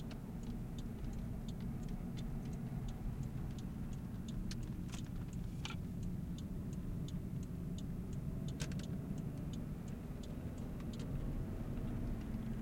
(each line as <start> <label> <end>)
0.0 engine 12.6